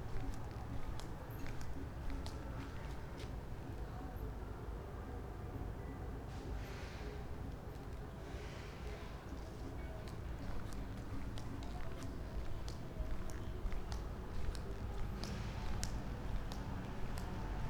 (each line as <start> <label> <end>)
10.0 steps 17.6